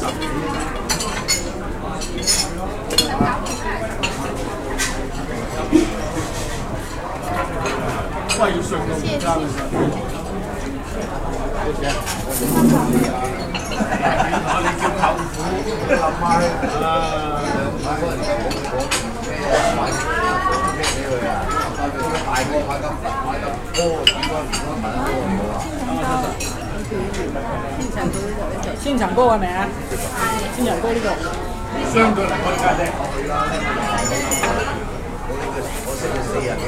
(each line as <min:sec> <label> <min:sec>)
0:00.0 waiter packing ceramic plates, cups and chopsticks 0:14.4
0:00.0 crowded chinese restaurant 0:36.6
0:32.4 waiter packing ceramic plates, cups and chopsticks 0:36.6